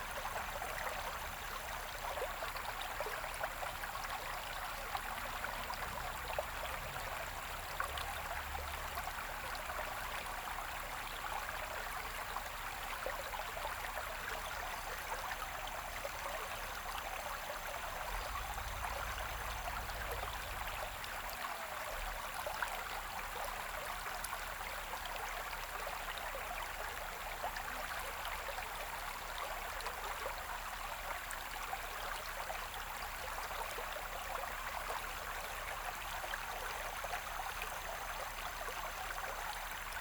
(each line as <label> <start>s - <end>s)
Stream 0.0s - 40.0s